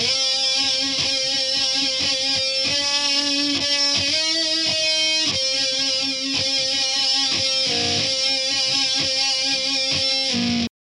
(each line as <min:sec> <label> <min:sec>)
0:00.0 guitar 0:10.7